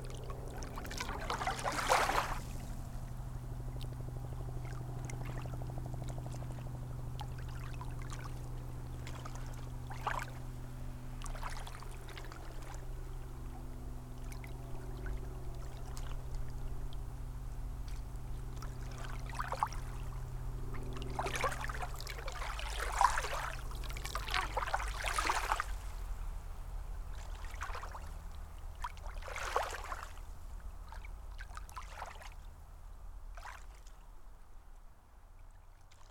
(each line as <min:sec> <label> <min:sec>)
0:00.0 Airplane headed to/from nearby airport 0:27.3